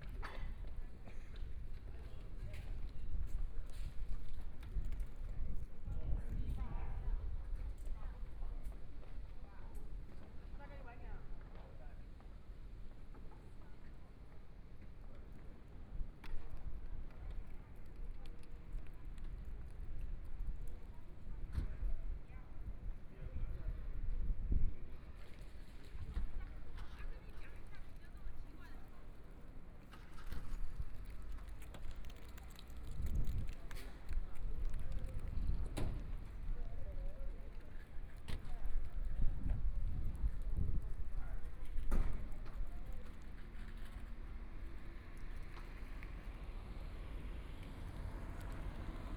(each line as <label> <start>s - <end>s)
Traffic Sound 43.6s - 49.1s